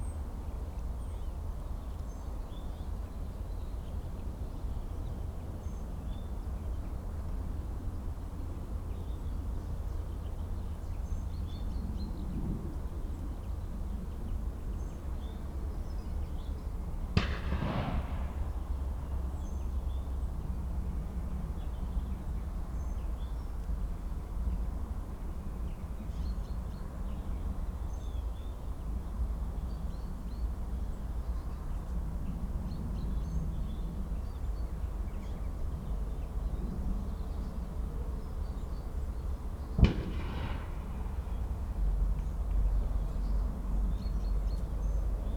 wood pigeon shoot 0:17.2 - 0:19.2
wood pigeon shoot 0:39.7 - 0:42.6

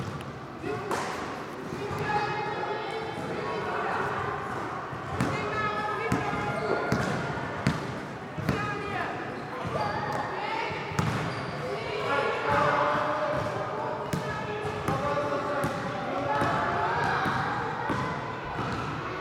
Basket ball training for kids 0:03.2 - 0:19.2

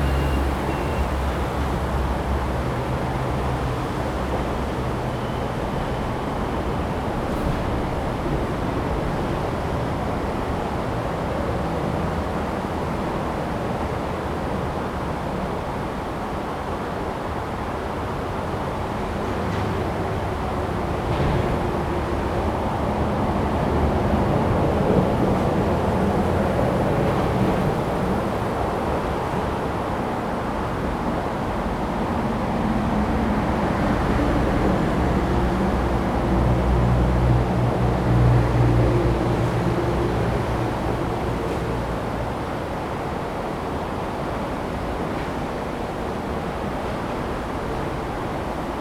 traffic sound 0:00.0 - 0:13.8
stream 0:00.0 - 0:48.8

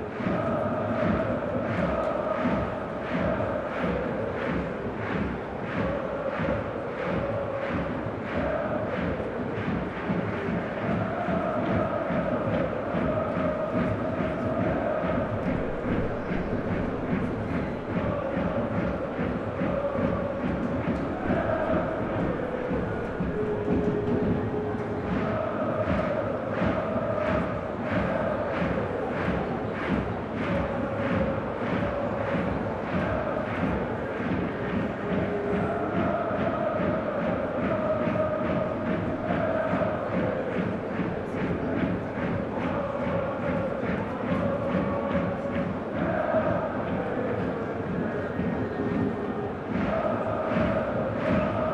football match 0:00.0 - 0:51.7
hertha fan chants 0:00.0 - 0:51.7

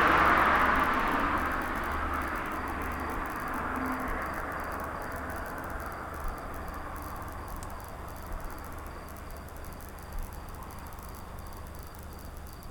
a car entered the sound scape 0:00.0 - 0:12.6
night cricket 0:00.0 - 0:12.7
gentle snaps and sparks of a transformer 0:07.0 - 0:11.3

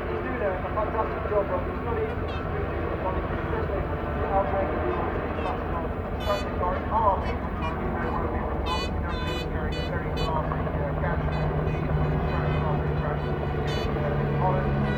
500cc motorcycle race 0:00.0 - 0:14.9

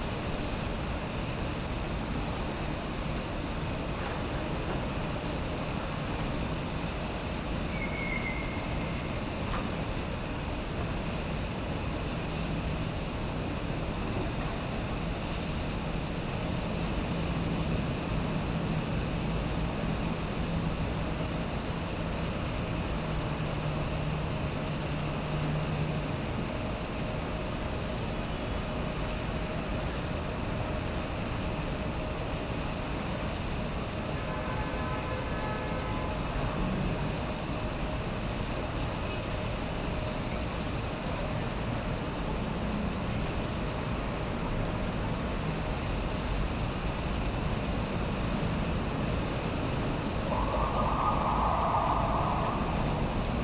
Cicada 0:07.5 - 0:09.6
Machine rumbling noise 0:48.9 - 0:53.4
Cicada 0:50.1 - 0:53.4

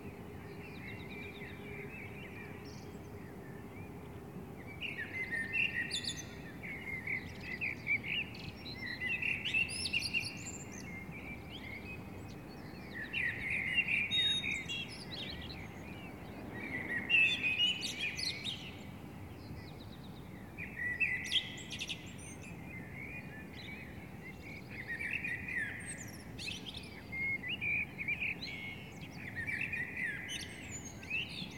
Birds 0:00.0 - 0:31.5

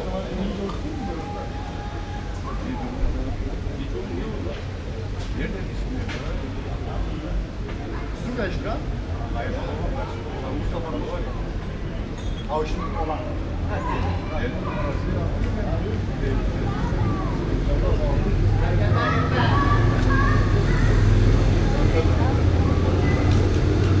people talking 0:00.0 - 0:24.0
cars passing by 0:13.3 - 0:24.0
child voices 0:16.7 - 0:17.5
child voices 0:19.0 - 0:21.8

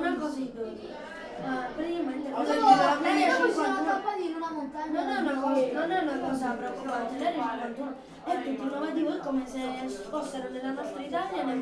crowded pizza restaurant 0:00.0 - 0:11.6

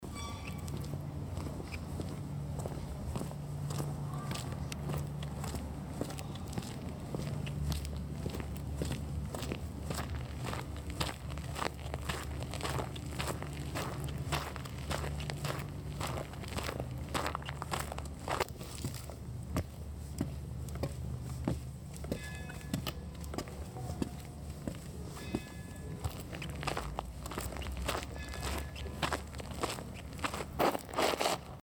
Footsteps in park 0:00.0 - 0:31.6

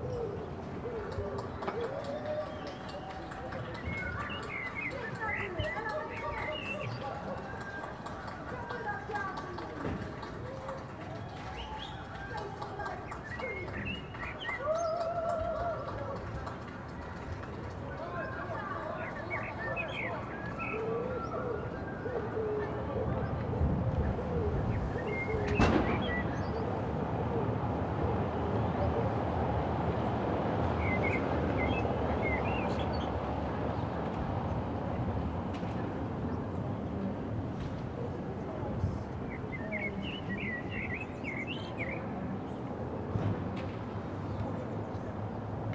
birds 0:00.0 - 0:34.8
birds 0:38.0 - 0:45.7

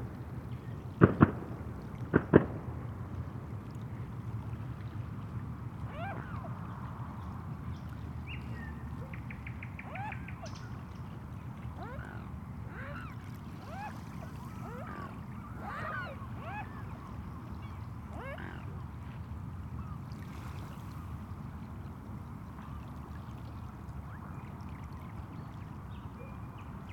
fireworks 0:01.0 - 0:02.6
swans 0:03.8 - 0:26.9

